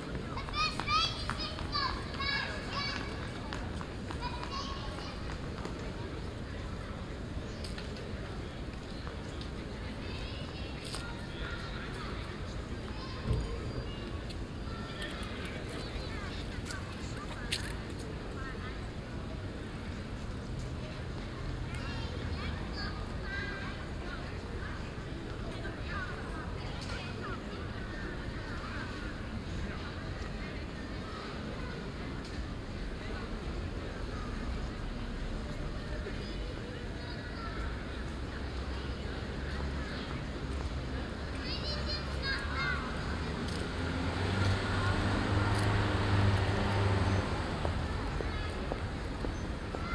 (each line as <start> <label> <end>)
0.0 People on café terraces 49.9
0.2 kids playing 5.4
41.3 kids playing 49.9